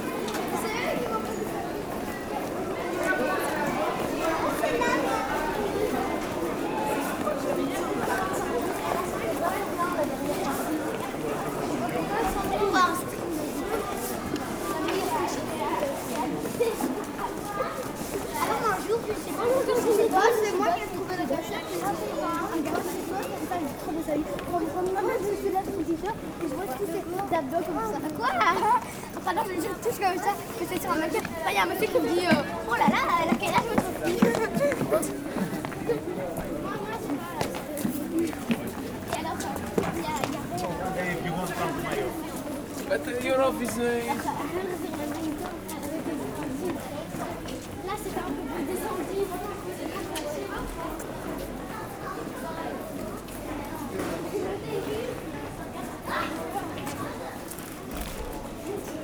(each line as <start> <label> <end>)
0.0 children 59.0